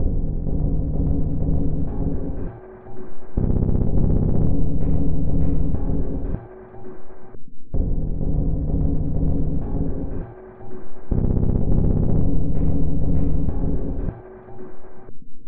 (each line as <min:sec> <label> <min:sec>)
0:00.0 Drum Loop 0:15.0